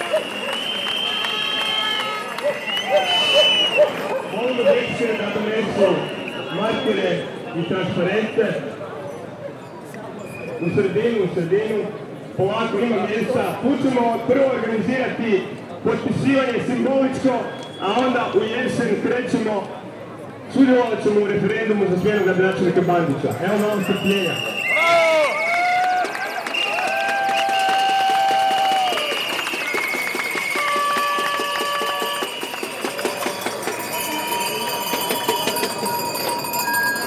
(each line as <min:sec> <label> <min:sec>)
0:00.0 reactions of citizens 0:08.7
0:23.5 reactions of citizens 0:36.5